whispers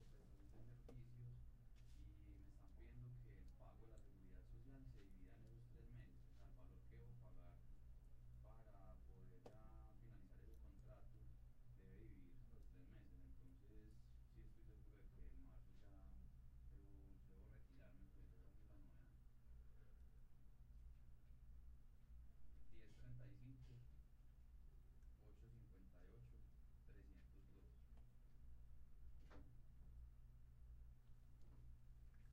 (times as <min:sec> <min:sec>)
0:00.0 0:07.7, 0:08.4 0:20.0, 0:22.7 0:23.9, 0:25.2 0:27.8